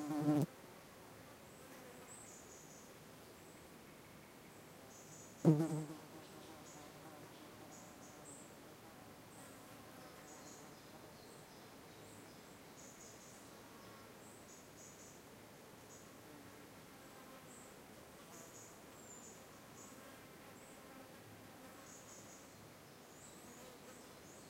Insects 0:21.8 - 0:24.4

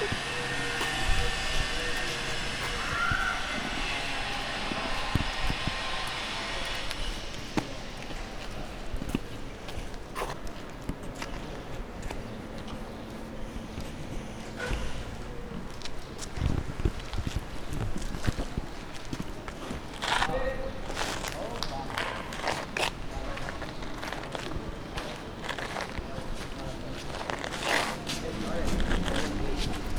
Humans 0:00.0 - 0:29.9
Steps 0:00.0 - 0:29.9

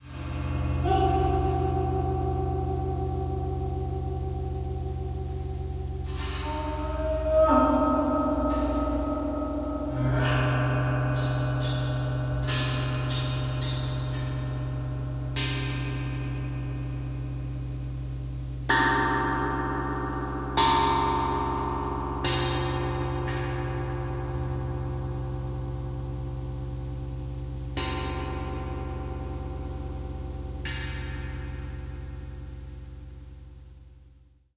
gong 0:00.0 - 0:34.4

